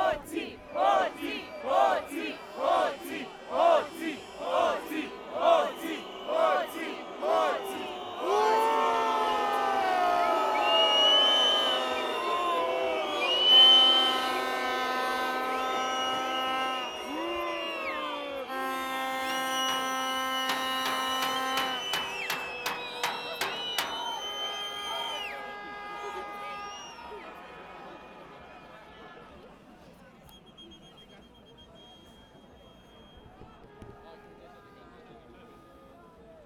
Anti graft protest 0.0 - 10.4

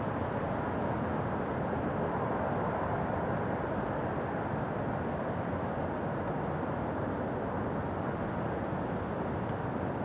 Wind from Inside 0.0 - 10.0

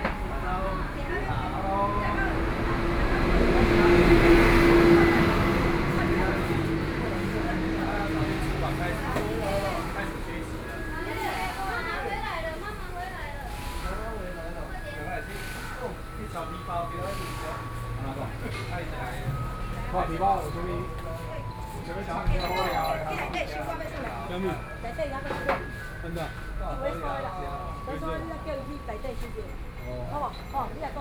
Traffic Sound 0.0 - 31.0

